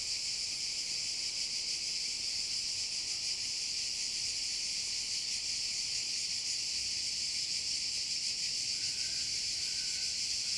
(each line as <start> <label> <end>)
0.0 Cicadas chorus 10.5